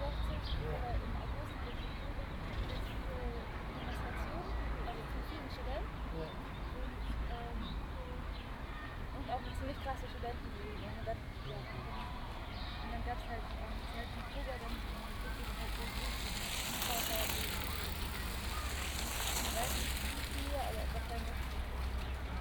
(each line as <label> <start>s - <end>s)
people talking 0.0s - 8.4s
people talking 9.1s - 22.4s